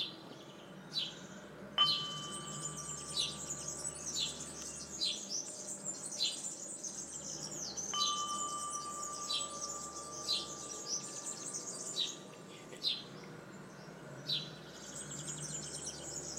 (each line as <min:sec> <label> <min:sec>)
0:01.8 medium wall bluebell 0:06.3
0:07.1 medium wall bluebell 0:12.4